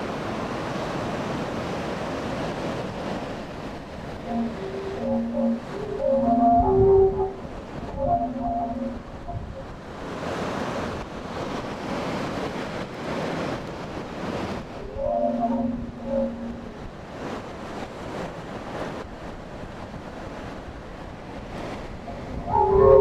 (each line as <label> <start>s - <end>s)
a lot of wind 0.0s - 23.0s
heolian harp 4.3s - 9.6s